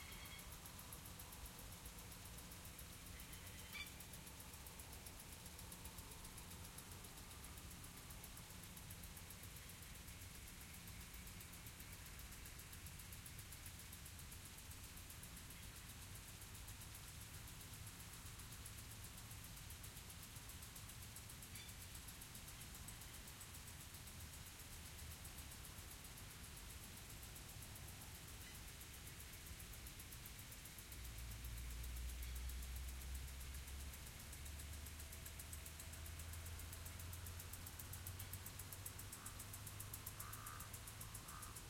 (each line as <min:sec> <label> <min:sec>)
0:00.0 sprinklers in the distance 0:41.6
0:03.2 bird calls 0:04.0